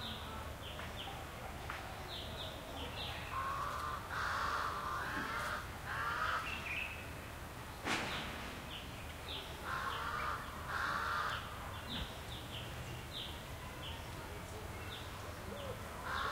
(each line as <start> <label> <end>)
0.0 distant sparse people activity 16.3
0.0 light traffic 16.3
3.3 crows 6.6
9.6 crows 11.5
15.6 crows 16.3